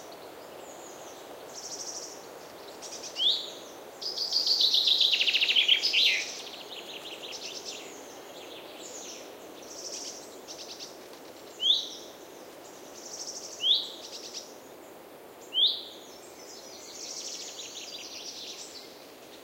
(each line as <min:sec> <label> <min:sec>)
0:00.0 wind on trees 0:19.4